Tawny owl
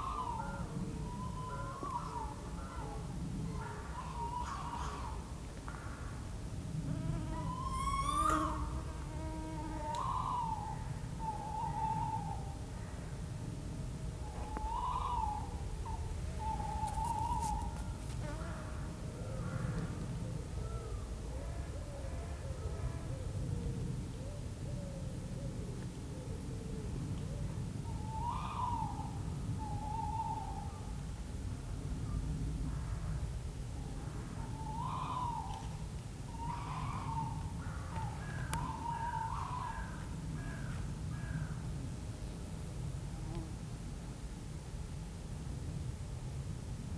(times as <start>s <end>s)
7.1s 12.6s, 14.4s 17.9s, 27.9s 30.9s, 34.4s 41.3s